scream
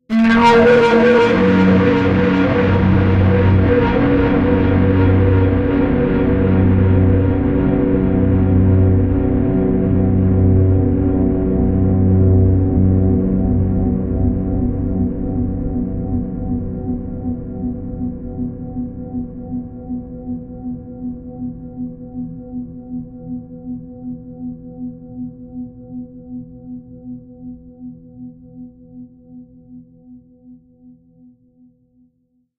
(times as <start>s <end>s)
0.1s 7.9s